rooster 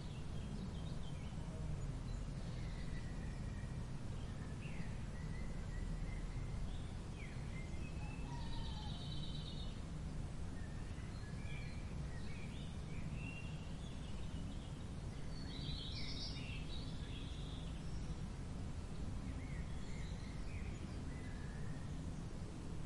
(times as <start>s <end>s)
8.0s 9.2s